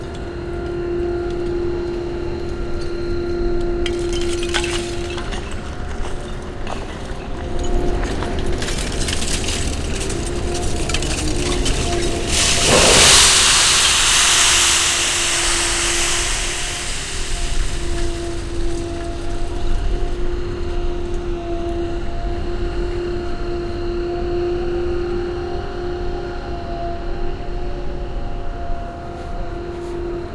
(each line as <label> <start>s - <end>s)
engine 0.0s - 30.3s
Metal scraps being piled 3.9s - 19.5s